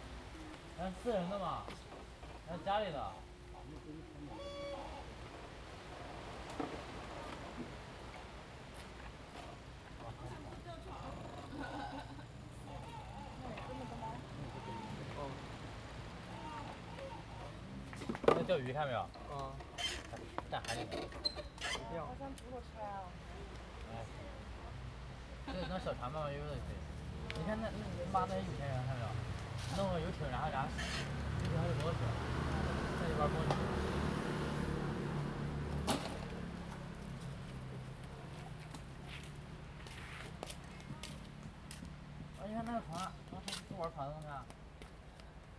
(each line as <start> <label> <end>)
0.0 waves 21.0
0.0 Traffic Sound 45.5